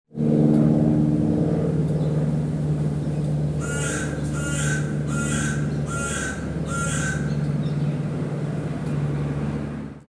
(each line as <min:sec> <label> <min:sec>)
0:00.1 single-engine plane 0:10.0
0:03.0 birds 0:08.1